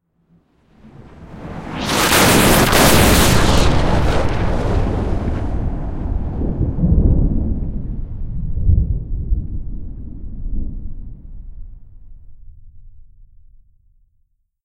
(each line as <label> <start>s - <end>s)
high-energy, electric-sounding explosion 1.7s - 12.7s